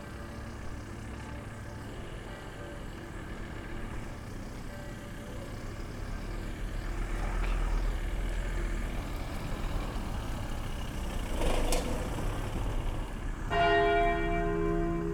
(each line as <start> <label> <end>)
0.0 churchbells from the cathedral and others 6.0
13.5 churchbells from the cathedral and others 15.1